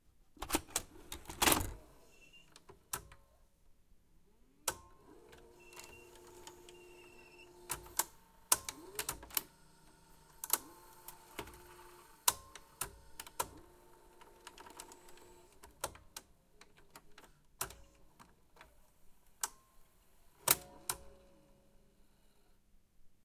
0.4s Inserting a VHS cassette 1.8s
4.7s Inserting a VHS cassette 18.7s
20.4s Inserting a VHS cassette 21.2s

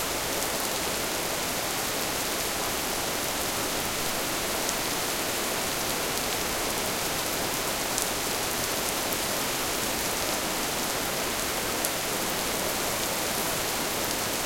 0.0s rain 14.4s

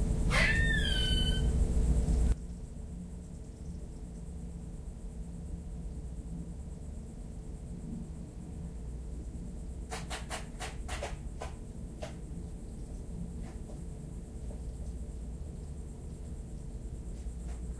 0.0s lizards 17.7s
0.2s Squirrels 1.6s
0.3s birds 1.6s

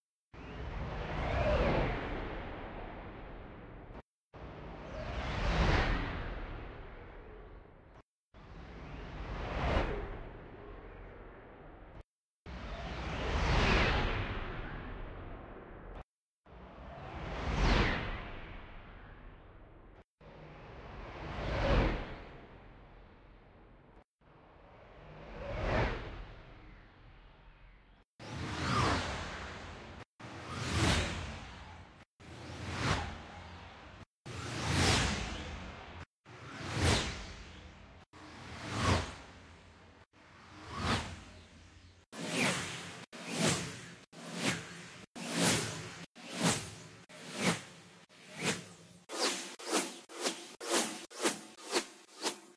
42.2s whooshes 52.5s

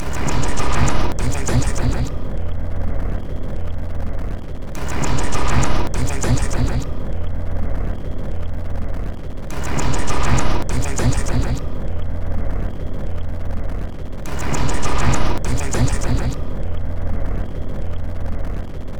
0.0s Drum Loop 2.2s
4.8s Drum Loop 6.8s
9.5s Drum Loop 11.6s
14.4s Drum Loop 16.5s

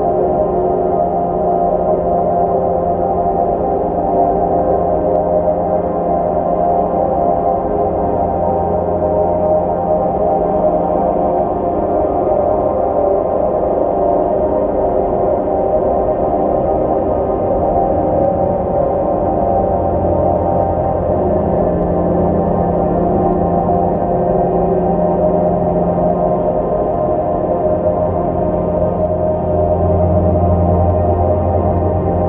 0.0s slowly evolving dreamy ambient drone pad 32.2s

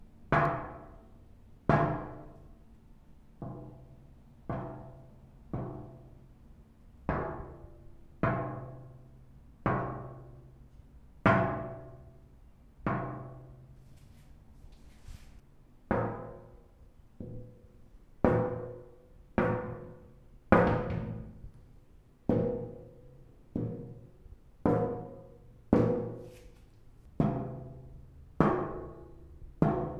20.6s knocking on a glass door with knuckle and finger 21.6s

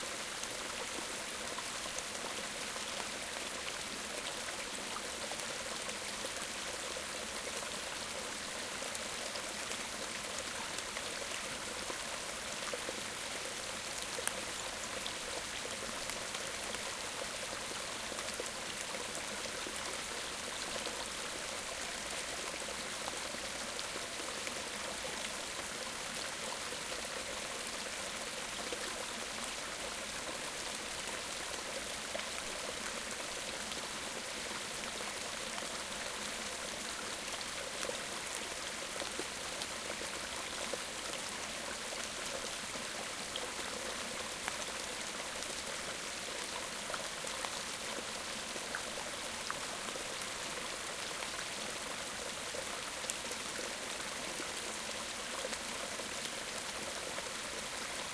0.0s medium stream 58.1s

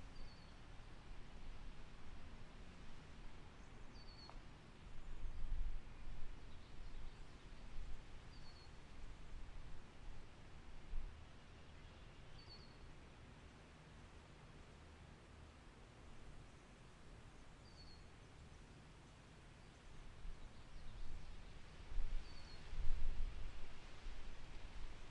0.0s birds 0.6s
0.0s OUTDOOR WHITE NOISE 25.1s
0.0s windy 25.1s
3.6s birds 4.5s
6.4s birds 8.8s
11.4s birds 12.9s
22.2s birds 22.7s

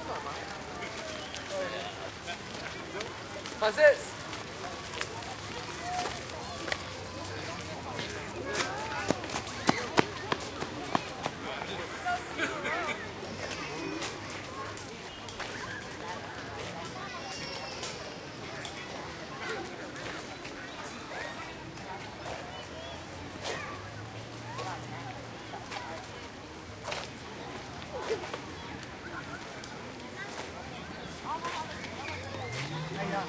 0.0s crowd 33.2s

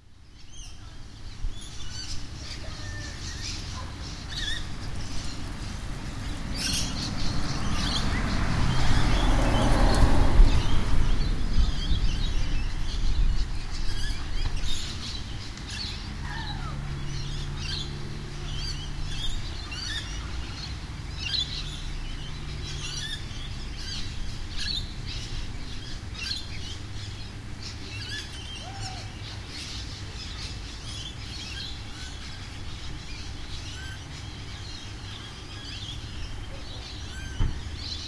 0.5s parrots in the trees chatting 5.2s
4.1s a car passes 28.6s
13.5s parrots in the trees chatting 20.2s
27.9s parrots in the trees chatting 32.3s

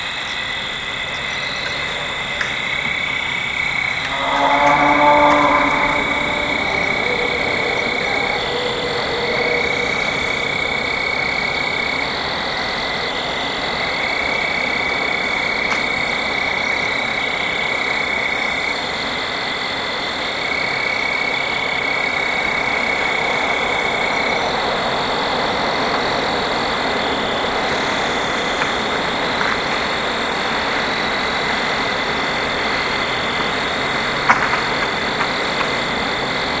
0.0s fall field crickets 36.6s
0.0s wind 36.6s

